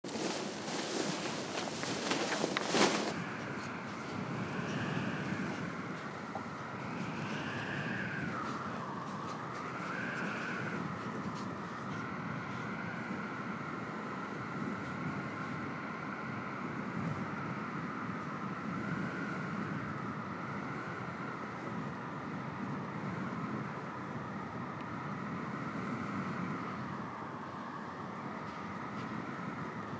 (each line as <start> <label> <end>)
0.0 paragliding wing 6.2